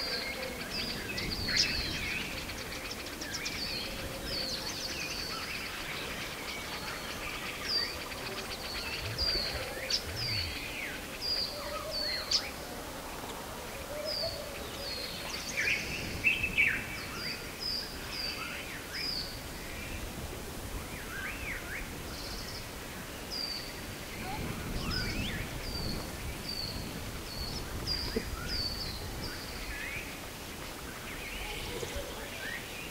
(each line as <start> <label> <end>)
0.0 bird singing 12.6